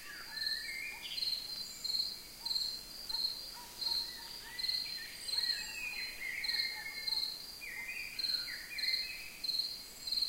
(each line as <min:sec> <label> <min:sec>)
0:00.0 Crickets 0:10.2
0:00.0 Singing Birds 0:10.2
0:00.3 dogs barking far away 0:01.2
0:02.4 dogs barking far away 0:08.0